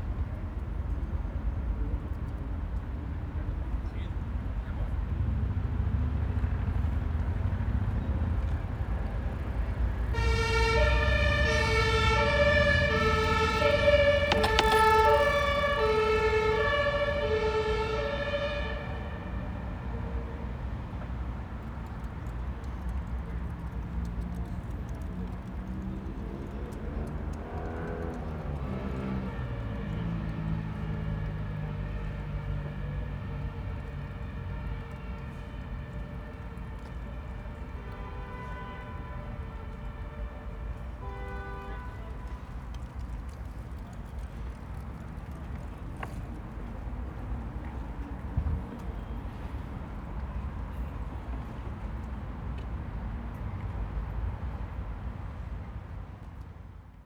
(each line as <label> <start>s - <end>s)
Siren blaring ambulances speed by 8.4s - 20.8s
Siren blaring ambulances speed by 27.0s - 41.0s